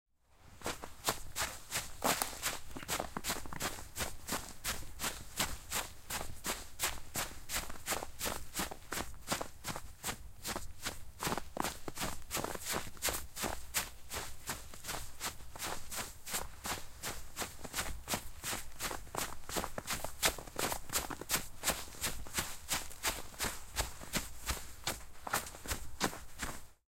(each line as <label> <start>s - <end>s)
running in snow-covered concrete with a pair of trainers 0.4s - 26.8s